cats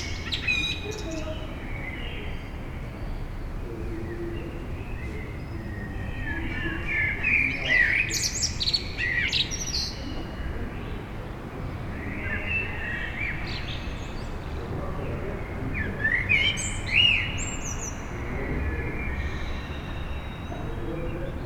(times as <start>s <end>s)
3.7s 8.0s